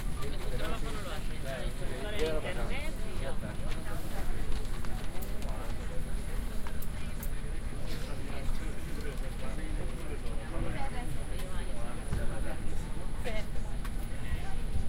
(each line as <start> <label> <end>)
0.0 people are seating and placing their luggage 14.8
3.4 engines of the airplane 14.8